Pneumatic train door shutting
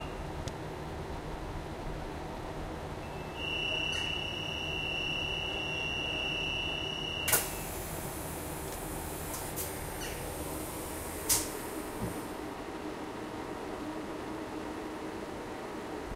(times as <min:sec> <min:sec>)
0:03.2 0:12.4